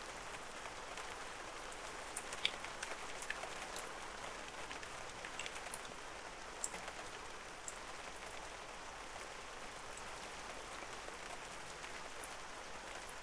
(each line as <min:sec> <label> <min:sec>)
0:00.0 Light rain 0:13.2